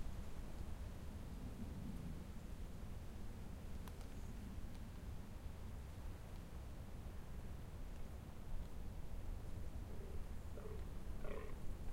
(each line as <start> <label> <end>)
0.0 wind through conifers 11.9
9.8 birds 11.9
9.9 roaring male deer 11.6